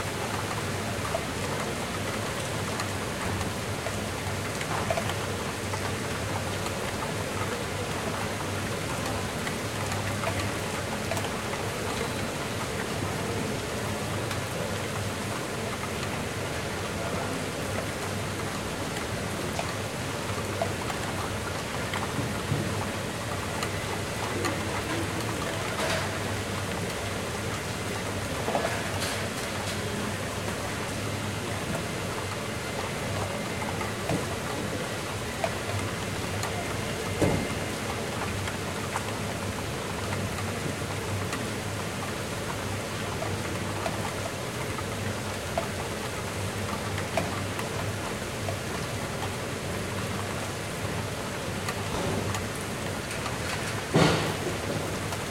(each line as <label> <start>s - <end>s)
havy rain 0.0s - 55.3s